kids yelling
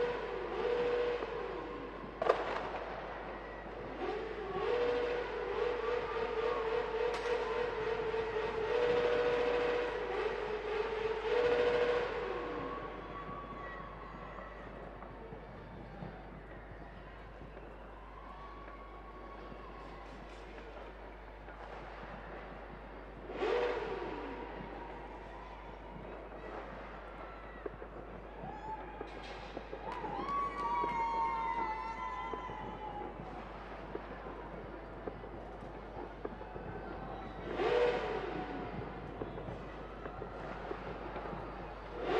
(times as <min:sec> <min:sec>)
0:29.9 0:33.2